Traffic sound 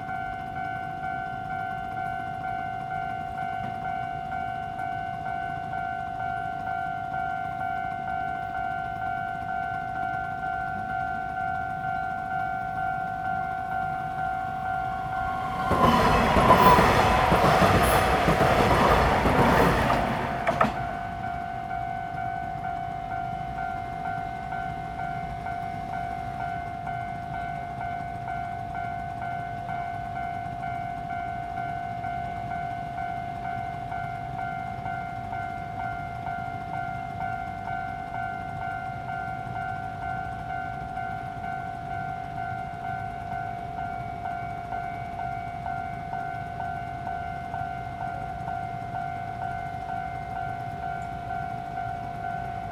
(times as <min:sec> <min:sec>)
0:14.5 0:21.2